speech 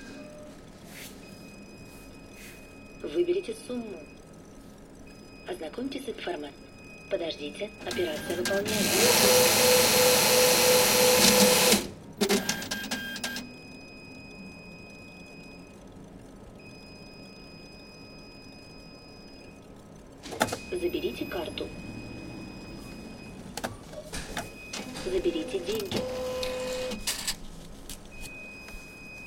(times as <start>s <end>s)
3.0s 4.1s, 5.5s 8.9s, 20.7s 21.7s, 25.0s 25.9s